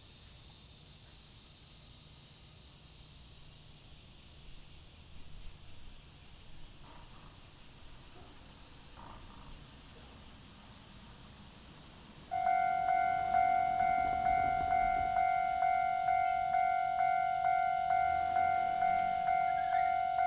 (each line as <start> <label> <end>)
0.0 Cicada cry 20.2
0.0 The train runs through 20.2
12.1 Traffic sound 20.2